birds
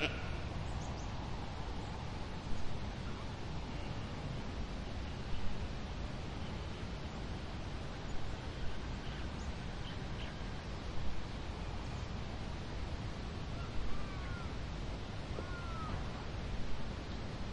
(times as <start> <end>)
13.4 16.3